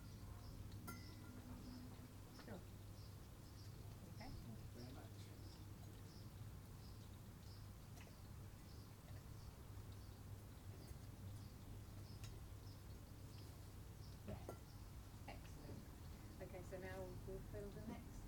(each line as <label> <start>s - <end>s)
sparrows 0.0s - 18.2s
chit chat 0.0s - 8.3s